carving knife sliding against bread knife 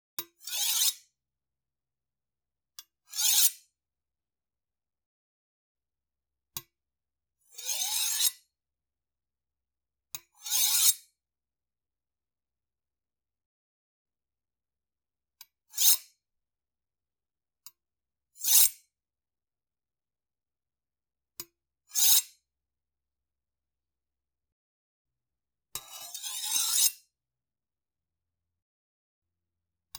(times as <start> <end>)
0.4 1.0, 3.1 3.6, 25.8 27.0